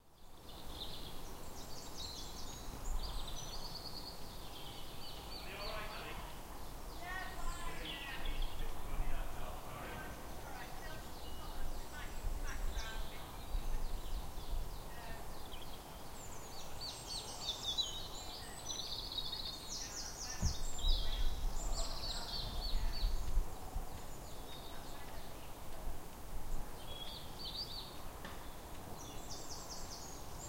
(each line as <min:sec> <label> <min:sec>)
0:00.0 birds 0:30.4
0:17.6 walkers 0:30.4